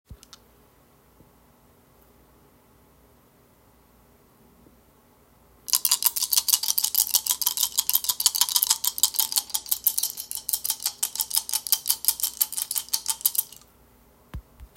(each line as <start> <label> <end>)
5.7 Shaking four dice in a closed fist 13.6